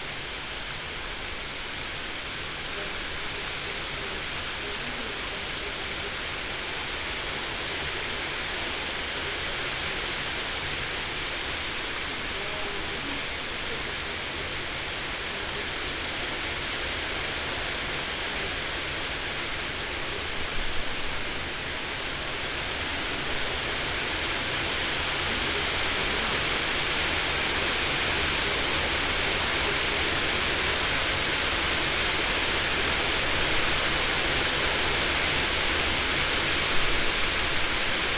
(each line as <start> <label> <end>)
0.0 wind 38.1